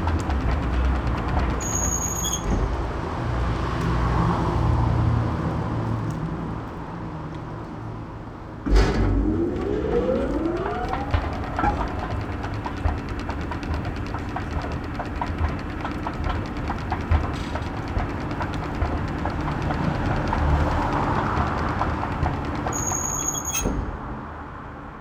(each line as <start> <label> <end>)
0.0 subway 25.0
8.6 stairway 19.4